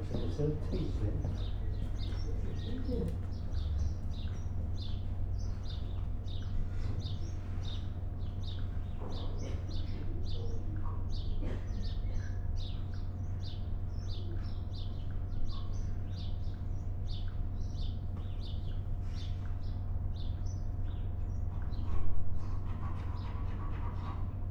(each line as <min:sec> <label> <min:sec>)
0:00.0 A few people talk 0:03.4
0:21.4 Workmen are refurbishing the old victorian canopy 0:24.5